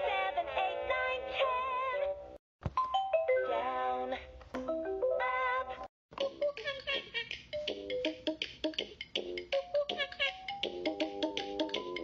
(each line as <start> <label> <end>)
0.0 Vocals 2.2
3.4 Vocals 4.4
5.2 Vocals 8.9
9.5 Vocals 12.0